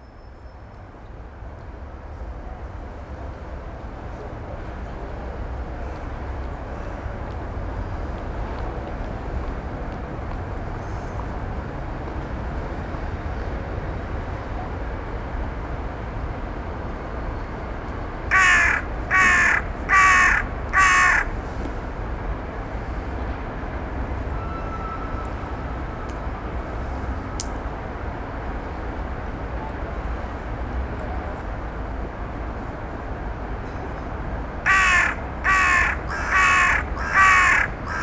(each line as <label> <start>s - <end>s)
drone of the city 0.0s - 38.0s
Birds Crowing and Cawing 18.3s - 21.4s
Birds Crowing and Cawing 34.7s - 38.0s